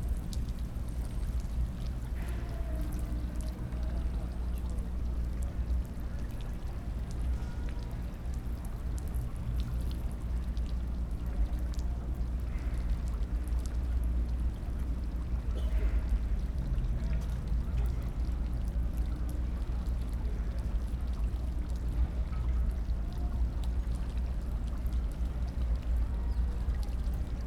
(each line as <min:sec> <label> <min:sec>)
0:00.0 fountain 0:27.4